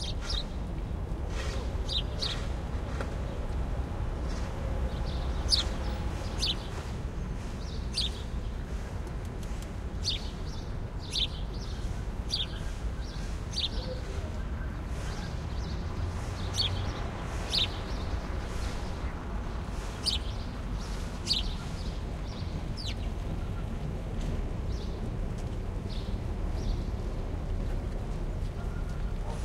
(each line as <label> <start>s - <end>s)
city birds 0.0s - 29.4s